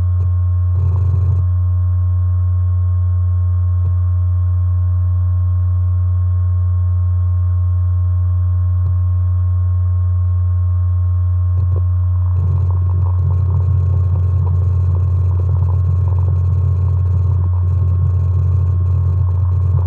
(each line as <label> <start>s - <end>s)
external USB hard drive 0.0s - 1.5s
external USB hard drive 11.6s - 19.8s